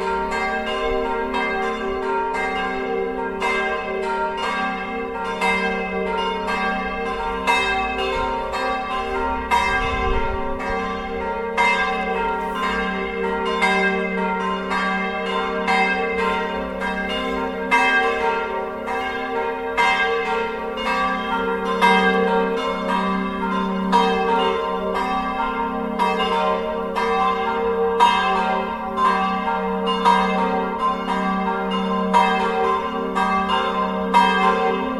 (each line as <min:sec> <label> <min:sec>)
0:00.0 bells are ringing 0:34.9